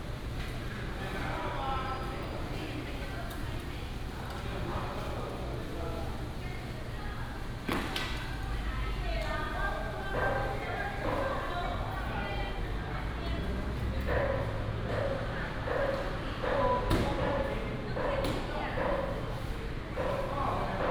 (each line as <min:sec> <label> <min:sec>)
0:14.0 Dog sounds 0:19.3